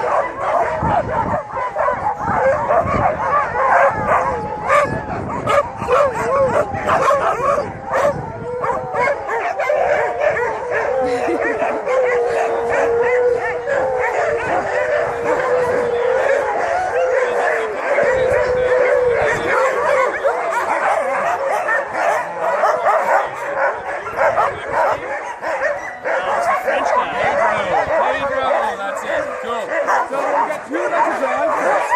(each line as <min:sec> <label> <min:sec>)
0:00.0 Sledding dogs 0:31.9